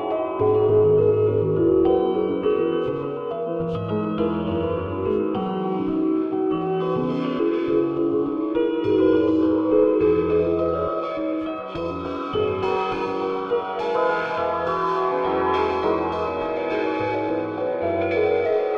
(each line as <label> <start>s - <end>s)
Piano 0.0s - 18.7s